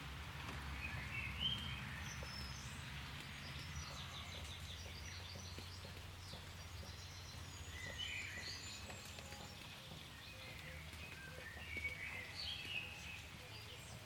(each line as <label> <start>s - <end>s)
a little light rain 0.0s - 14.0s
birdsong 0.0s - 14.0s
traffic 0.0s - 14.0s